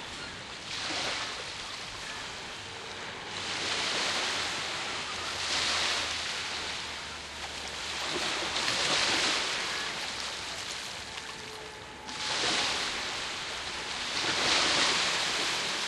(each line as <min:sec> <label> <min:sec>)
0:00.0 sea gently encroaching further inward 0:15.8